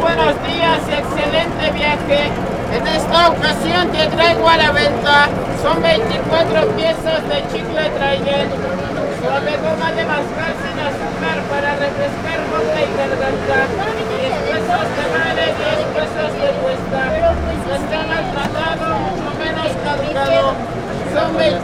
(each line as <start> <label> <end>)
0.0 vagonero del metro 21.6